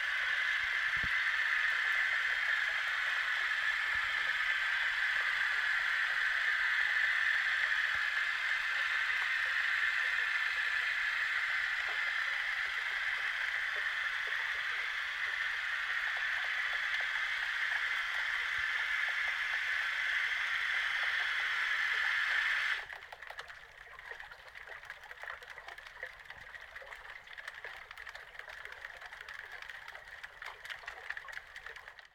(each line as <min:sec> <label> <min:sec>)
0:00.0 fishing boat starting its electric motor and passing 0:32.1